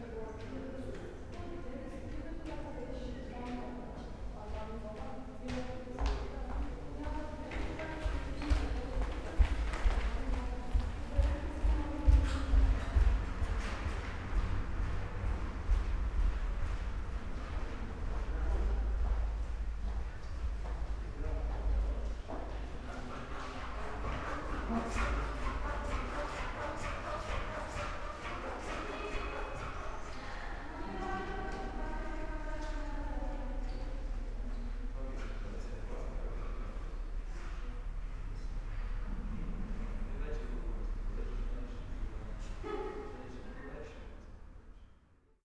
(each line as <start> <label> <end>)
4.9 steps 32.9